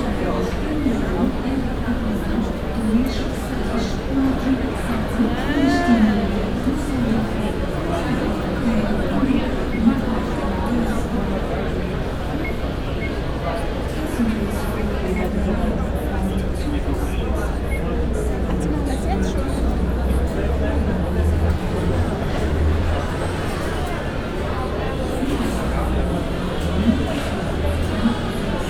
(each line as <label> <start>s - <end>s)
boarding crowd 0.0s - 28.6s